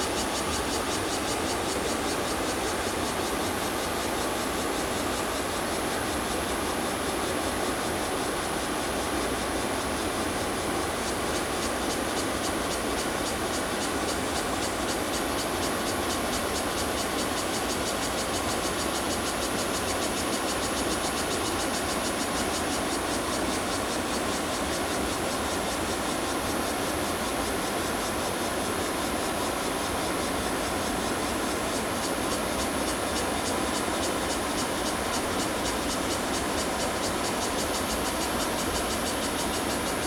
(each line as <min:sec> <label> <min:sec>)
0:00.0 Cicada sounds 0:40.0